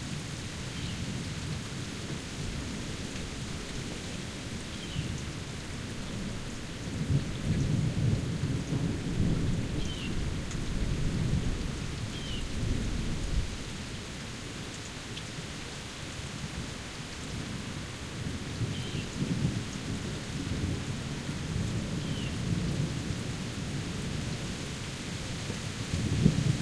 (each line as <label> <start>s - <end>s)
sweeping rainfall in the grass and trees 0.0s - 26.6s
water through the gutters and downspouts 0.0s - 26.6s
wind 0.0s - 26.6s